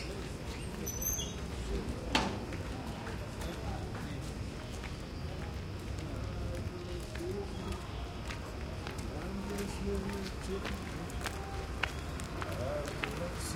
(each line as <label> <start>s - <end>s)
crowd 0.0s - 13.5s
light traffic 0.0s - 13.5s
crickets 0.0s - 13.5s
crunchy steps 2.4s - 13.5s